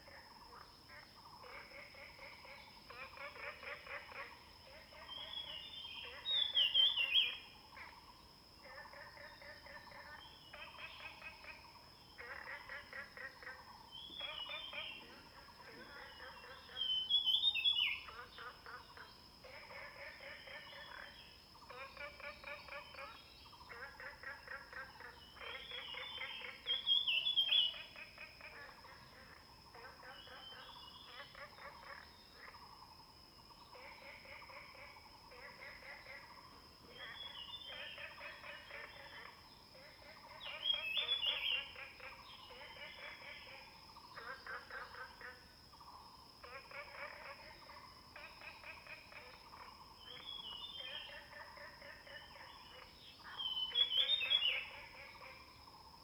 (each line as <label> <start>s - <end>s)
Bird 0.0s - 32.8s
Frog sounds 0.0s - 56.0s
Bird 33.4s - 56.0s